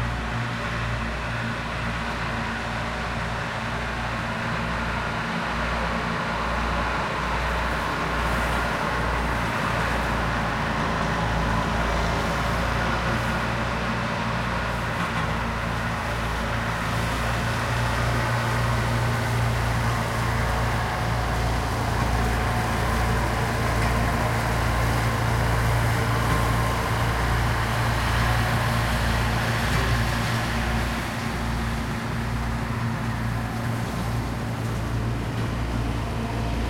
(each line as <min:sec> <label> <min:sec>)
0:00.0 Tractor mowing the fields 0:36.6